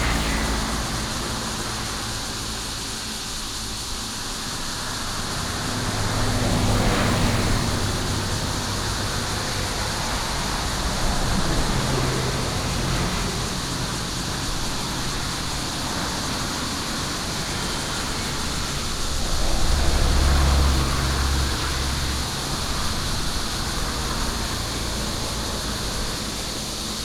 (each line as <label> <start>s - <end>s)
Cicada 0.0s - 27.0s
traffic sound 0.0s - 27.0s